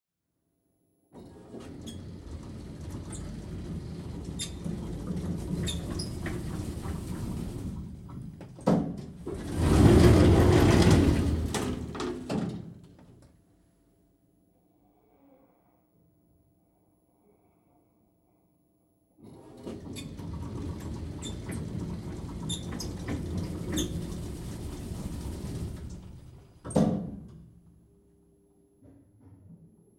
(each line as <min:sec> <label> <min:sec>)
0:01.2 elevator 0:13.0
0:19.2 elevator 0:27.1